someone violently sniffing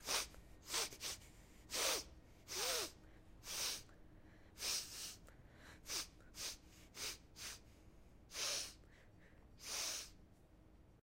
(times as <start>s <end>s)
0.0s 3.9s, 4.6s 5.2s, 5.8s 7.6s, 8.3s 8.8s, 9.6s 10.2s